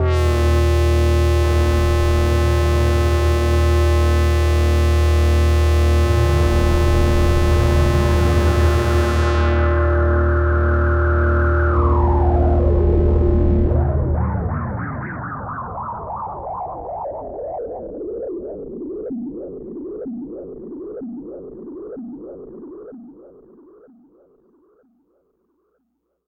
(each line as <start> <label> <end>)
0.0 Analog Bass 16.4